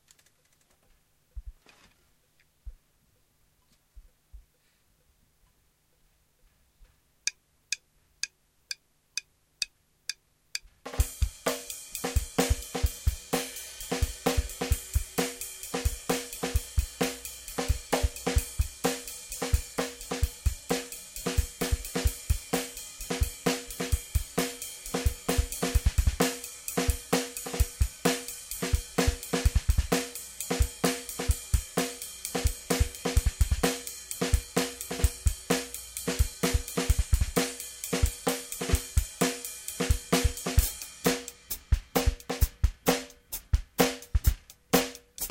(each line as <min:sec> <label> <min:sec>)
0:10.9 drum 0:45.3